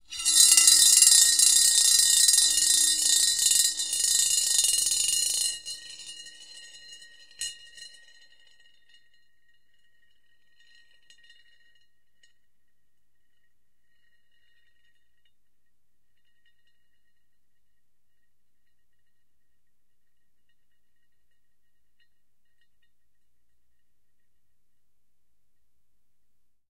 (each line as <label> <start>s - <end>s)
marbles - rolling around 33cm ceramic bowl 0.0s - 12.4s